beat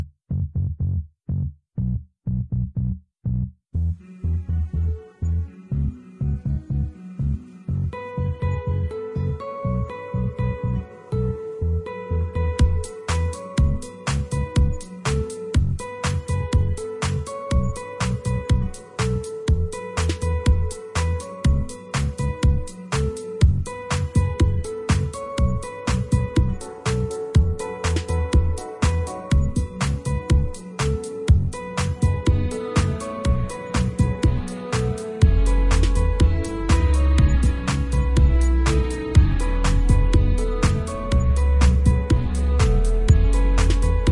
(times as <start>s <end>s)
12.6s 44.1s